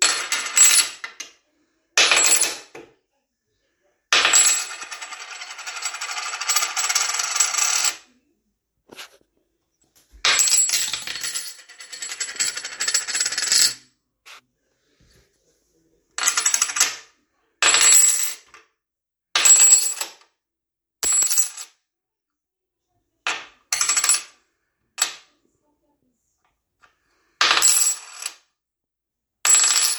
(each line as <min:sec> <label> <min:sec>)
0:00.0 large coin dropping and spinning 0:01.3
0:02.0 large coin dropping and spinning 0:02.7
0:04.2 large coin dropping and spinning 0:08.0
0:10.2 large coin dropping and spinning 0:13.8
0:16.2 large coin dropping and spinning 0:17.1
0:19.4 large coin dropping and spinning 0:20.2
0:27.4 large coin dropping and spinning 0:28.4
0:29.5 large coin dropping and spinning 0:29.9